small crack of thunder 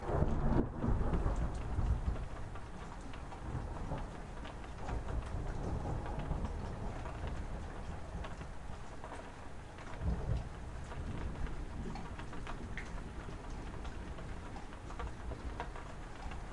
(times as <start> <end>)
0.0 8.5